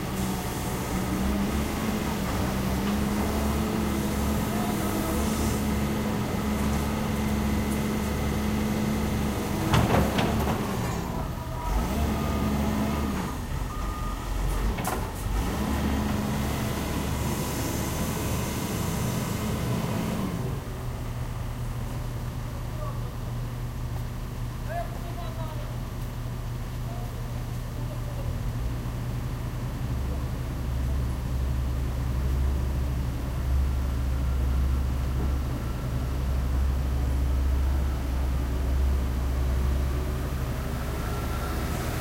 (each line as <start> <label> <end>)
0.0 Excavator at work 21.4